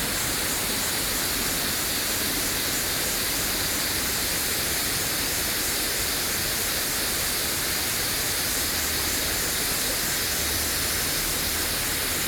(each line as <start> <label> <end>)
0.0 Cicadas 2.3